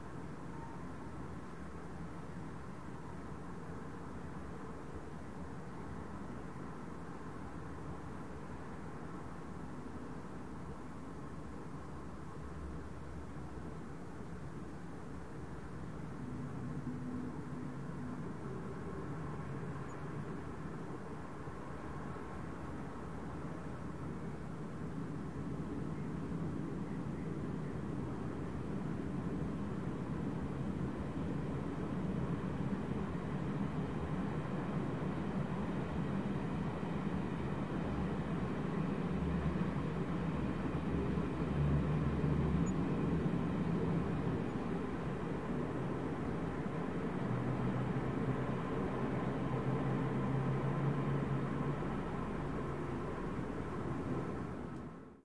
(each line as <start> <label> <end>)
0.0 Traffic Distant 55.2